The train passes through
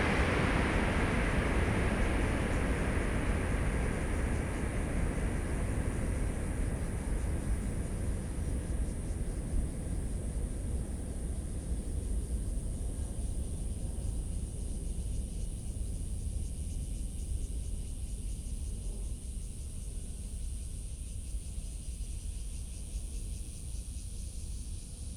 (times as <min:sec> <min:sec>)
0:00.0 0:11.3